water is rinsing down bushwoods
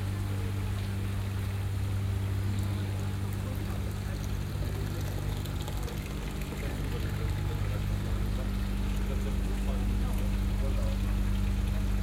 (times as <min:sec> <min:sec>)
0:02.4 0:12.0